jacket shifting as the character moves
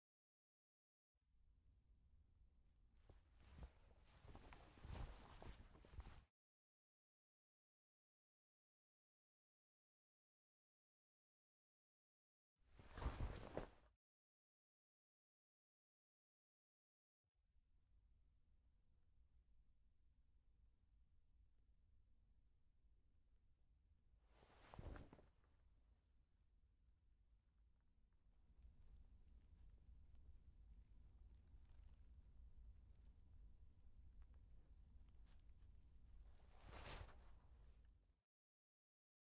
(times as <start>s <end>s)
3.1s 6.2s, 12.8s 13.9s, 24.4s 25.2s, 36.4s 37.5s